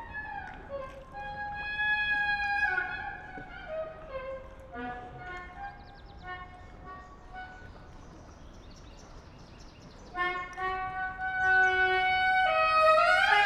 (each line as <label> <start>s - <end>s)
sax player under bridge 0.0s - 13.4s